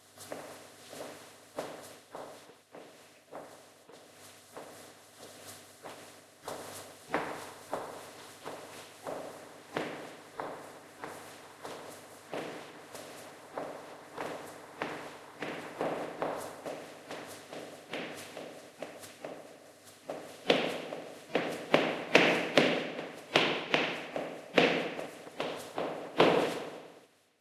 footsteps on concrete 0:00.2 - 0:27.0

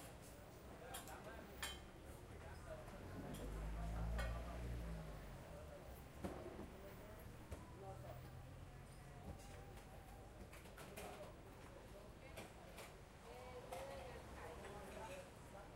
customers all around 0:00.0 - 0:15.7

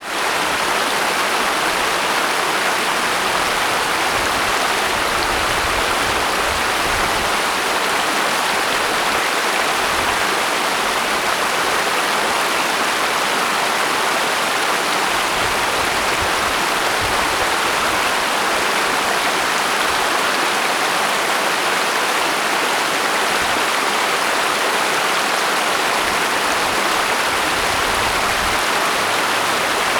Urban creek flowing over rocks 0:00.0 - 0:29.9

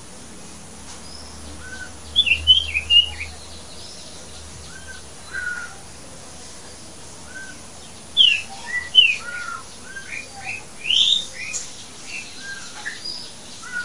Tree 0:00.0 - 0:13.8
birds 0:00.7 - 0:13.8

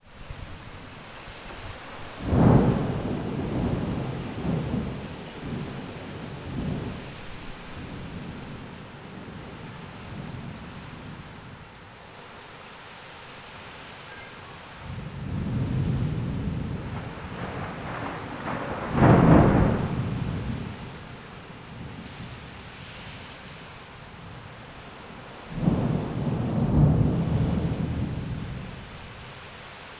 rain 0:00.0 - 0:29.9
thunder is much louder and more powerful 0:02.2 - 0:08.6
strong wind 0:14.8 - 0:23.2
thunder is much louder and more powerful 0:14.8 - 0:21.2
thunder is much louder and more powerful 0:25.5 - 0:29.2

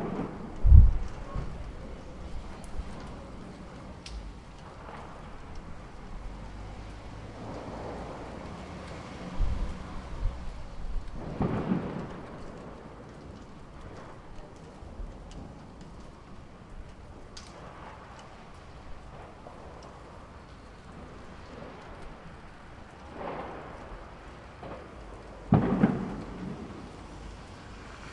fireworks 0:00.0 - 0:28.1
raining 0:00.0 - 0:28.1
cars on the move 0:00.1 - 0:12.2
cars on the move 0:25.5 - 0:28.1

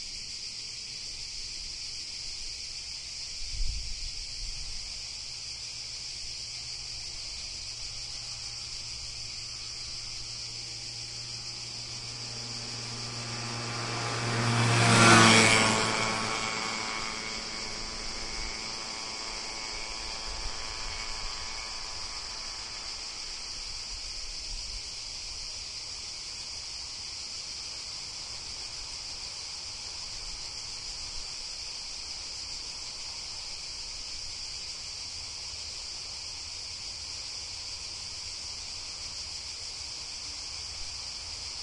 crickets are chirping 0:00.0 - 0:41.6
cars can be heard driving by 0:05.0 - 0:33.3

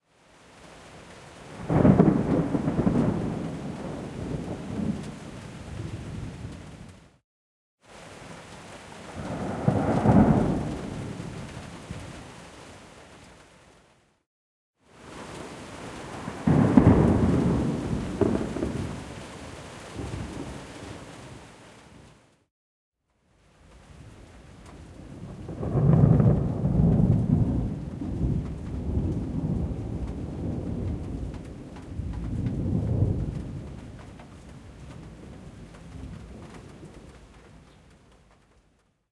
Thunder 0:01.6 - 0:06.6
Thunder 0:09.1 - 0:11.5
Thunder 0:16.0 - 0:19.1
Thunder 0:25.0 - 0:34.2

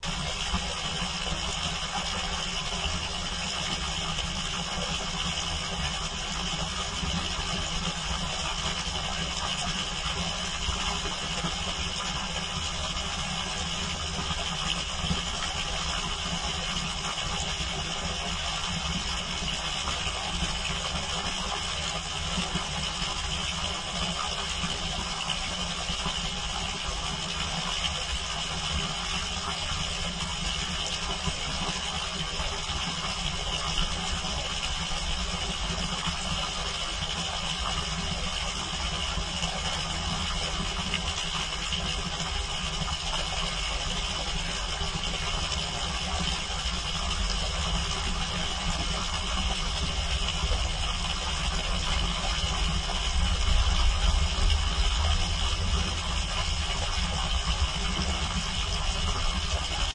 pipe 0:00.0 - 0:59.9
water spring 0:00.0 - 0:59.9

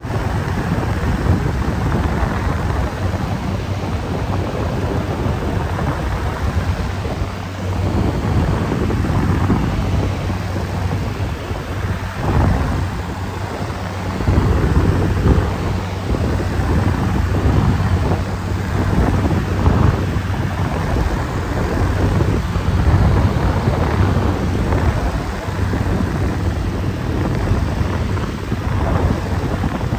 box fan on high speed 0:00.0 - 0:29.9

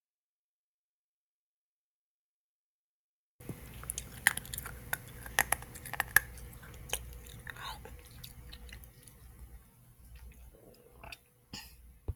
Eating An Ice Cube 0:03.4 - 0:11.3

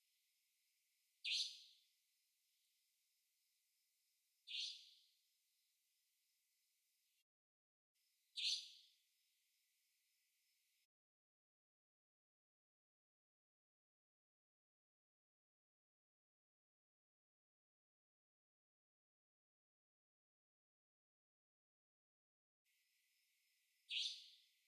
Bird Nightingale 0:01.2 - 0:01.8
Bird Nightingale 0:04.4 - 0:05.1
Bird Nightingale 0:08.4 - 0:09.0
Bird Nightingale 0:23.9 - 0:24.6

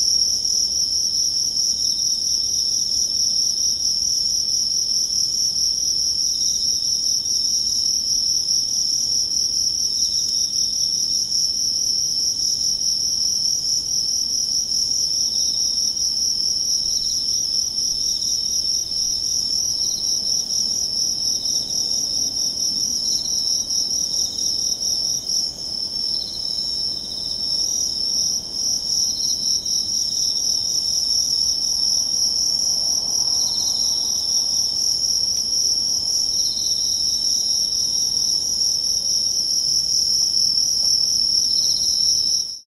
cicadas 0:00.0 - 0:42.6
crickets 0:00.0 - 0:42.6
traffic 0:31.8 - 0:36.1

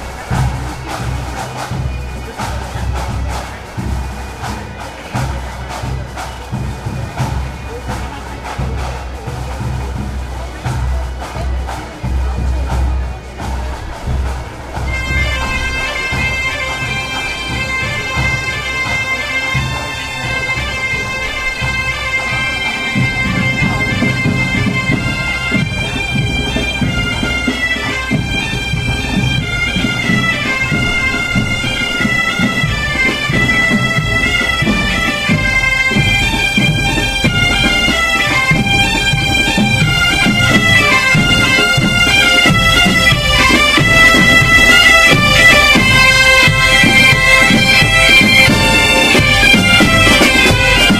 bagpipes 0:00.0 - 0:50.9
drums 0:00.0 - 0:50.9

